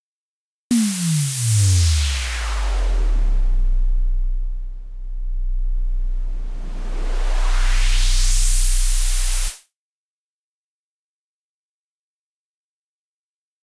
riser 0:00.7 - 0:09.6

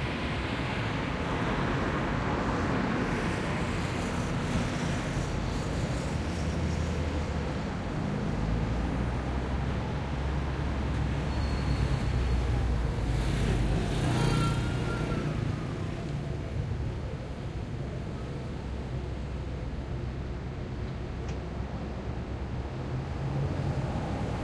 cars 0:00.0 - 0:24.4

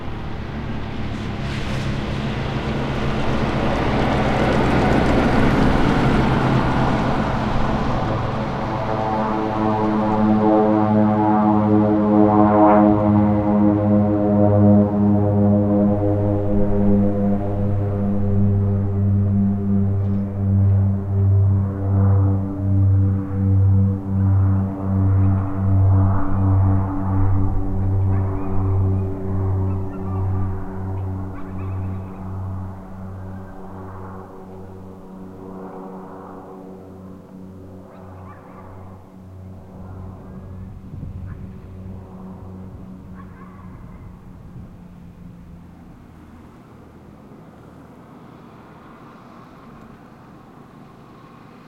airplane prop distant take off 0:00.0 - 0:51.6
truck pass 0:00.0 - 0:51.6

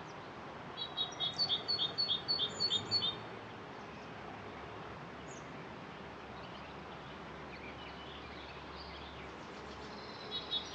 bird song 0:00.0 - 0:03.2
windy weather 0:00.0 - 0:10.7
bird song 0:05.2 - 0:05.7
bird song 0:06.3 - 0:10.7

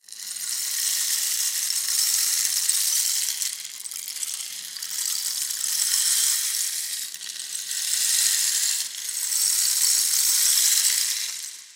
rainstick (beads inside a tube) running very slowly 0:00.0 - 0:11.7

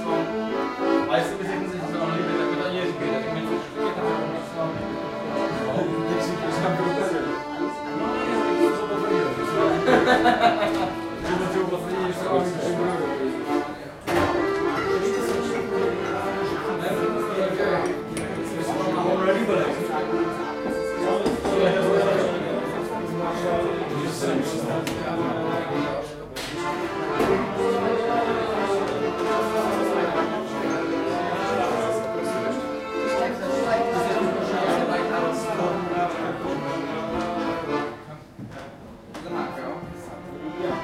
accordeon 0:00.0 - 0:40.8
crowd 0:08.2 - 0:40.8

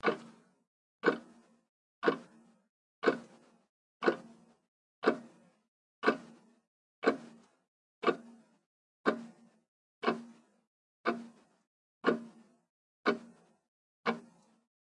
Clock Tick 0:00.0 - 0:14.6

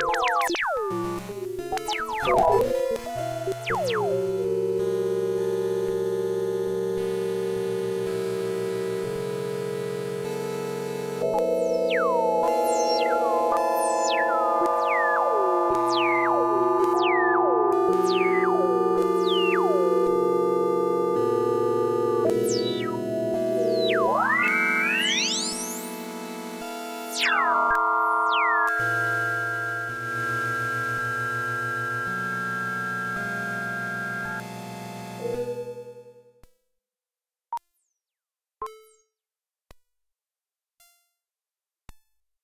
analog synth 0:00.0 - 0:36.1

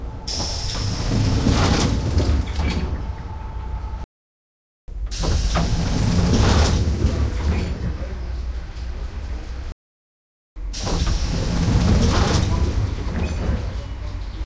Pneumatic slidingdoor opens 0:00.2 - 0:03.2
Pneumatic slidingdoor opens 0:05.0 - 0:08.2
Pneumatic slidingdoor opens 0:10.6 - 0:14.1

